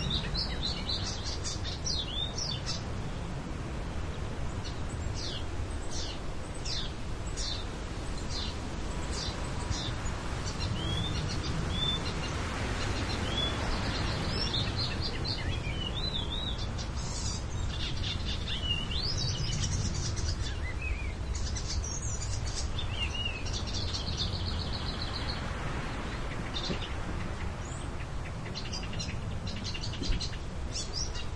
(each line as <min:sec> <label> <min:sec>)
0:00.0 wind 0:31.3
0:08.2 bird was singing 0:25.5